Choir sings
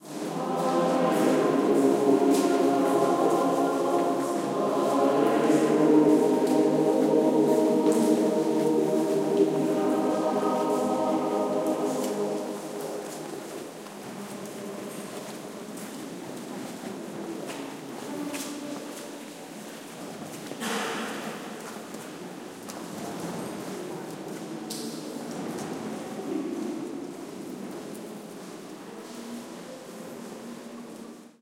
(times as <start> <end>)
0.0 14.4